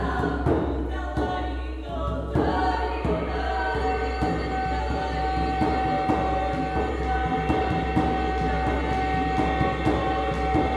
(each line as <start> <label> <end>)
0.0 post-folklore band Sen Svaja performing 10.7